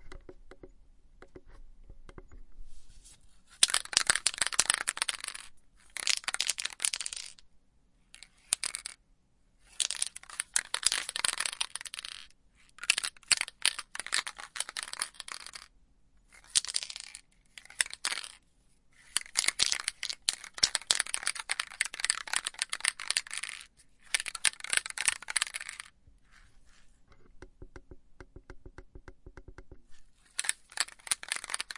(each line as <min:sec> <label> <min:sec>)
0:16.3 little metal ball inside rolling around 0:18.4
0:19.0 little metal ball inside rolling around 0:26.0
0:30.3 little metal ball inside rolling around 0:31.7